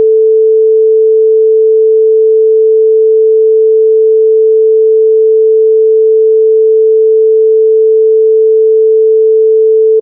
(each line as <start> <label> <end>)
0.0 Sine Tone 10.0